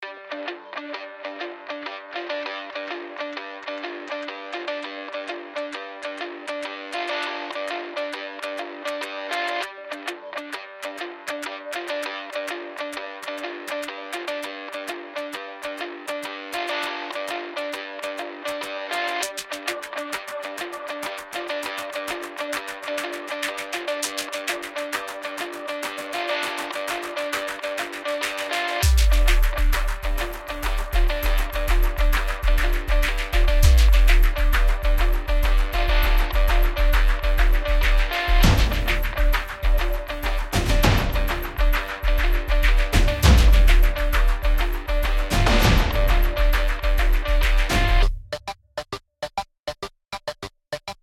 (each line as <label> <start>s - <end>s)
eguitar 0.0s - 48.2s
bass 28.8s - 48.2s